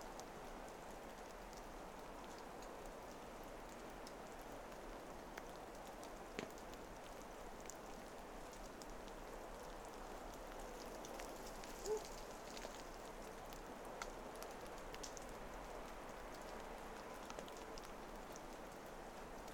snow falls from trees 0:05.8 - 0:15.2

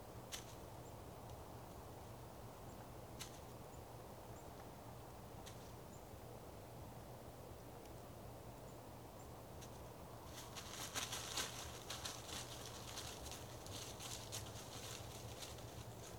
plane overhead 0:00.0 - 0:16.1

